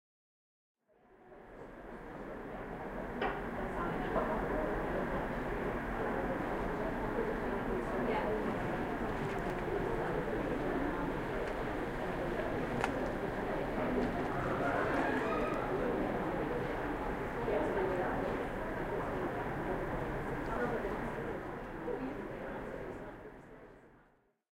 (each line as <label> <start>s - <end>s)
speech 0.9s - 24.4s
train 1.3s - 23.3s